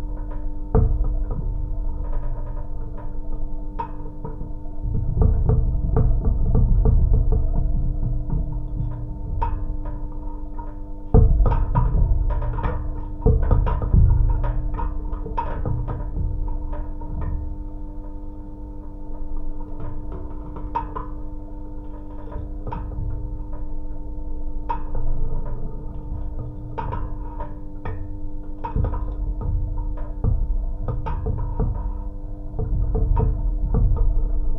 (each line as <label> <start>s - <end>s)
lamp pole vibrations 0.0s - 34.5s